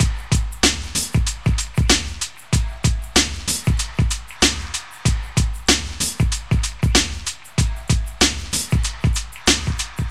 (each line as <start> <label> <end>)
0.0 Drum loop 10.1